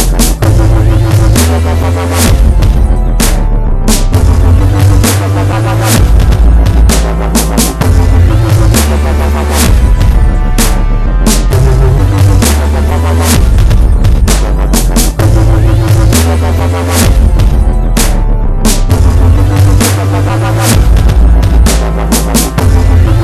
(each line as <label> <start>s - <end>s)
Dubstep beat1 0.0s - 23.2s